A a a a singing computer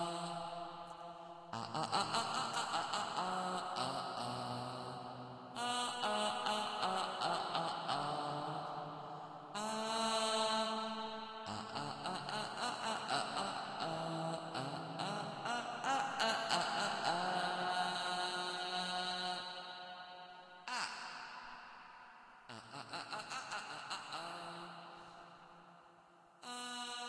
0.0 21.6

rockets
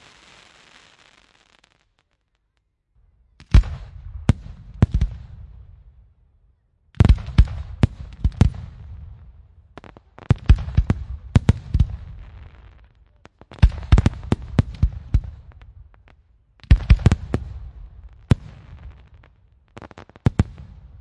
0.0 2.4

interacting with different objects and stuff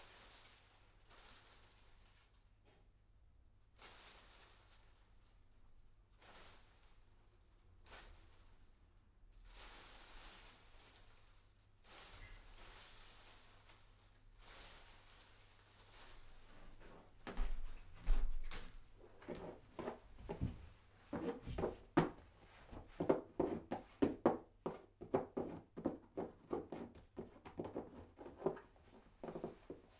16.5 29.9

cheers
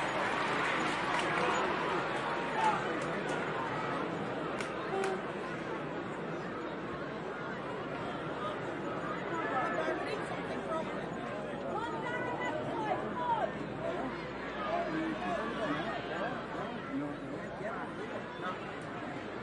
0.0 3.8

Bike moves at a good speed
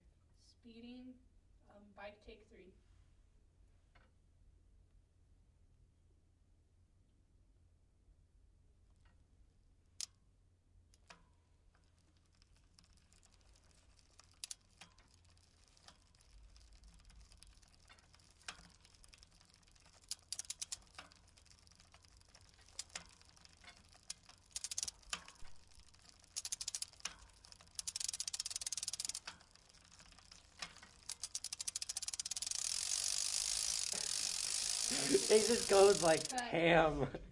11.0 36.4

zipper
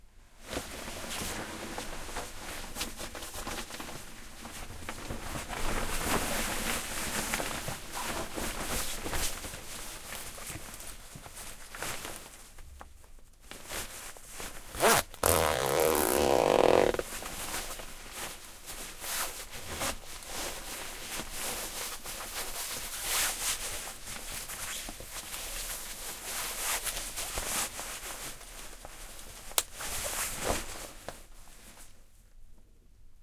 14.8 17.0

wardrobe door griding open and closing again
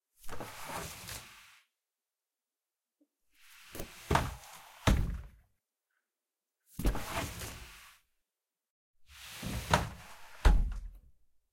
3.7 5.4, 9.2 11.0

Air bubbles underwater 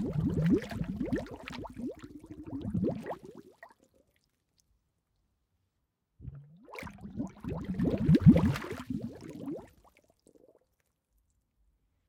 0.0 4.0, 6.2 10.6

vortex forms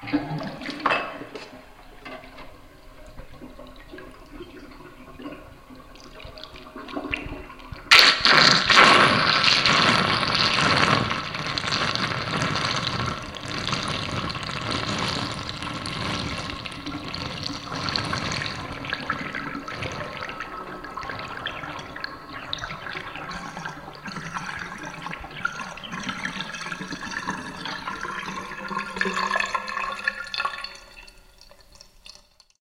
7.9 24.0

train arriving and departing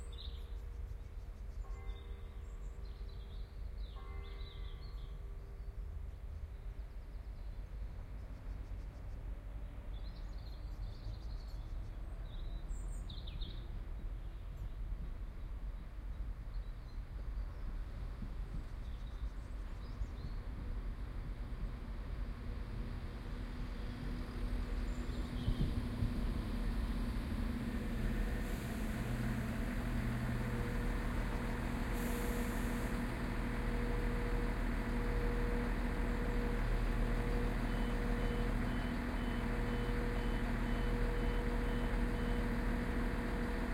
13.7 43.7

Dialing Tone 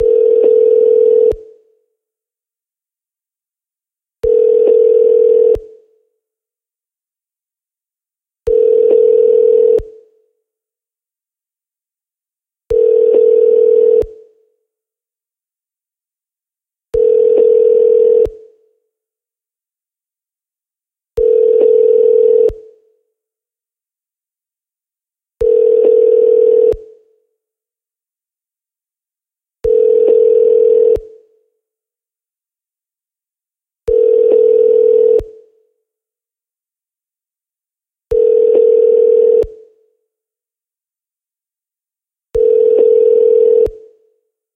42.4 43.8

